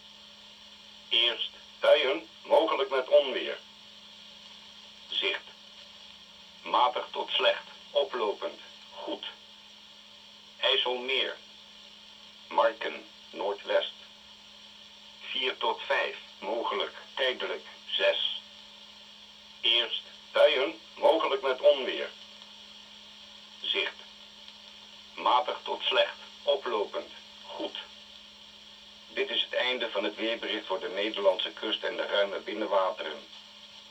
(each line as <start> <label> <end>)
1.1 wheather forecast of the netherlands coastguard 3.6
6.6 wheather forecast of the netherlands coastguard 9.4
10.6 wheather forecast of the netherlands coastguard 11.4
12.5 wheather forecast of the netherlands coastguard 14.0
15.2 wheather forecast of the netherlands coastguard 18.5
19.6 wheather forecast of the netherlands coastguard 22.2
23.6 wheather forecast of the netherlands coastguard 24.1
25.2 wheather forecast of the netherlands coastguard 27.9
29.1 wheather forecast of the netherlands coastguard 33.3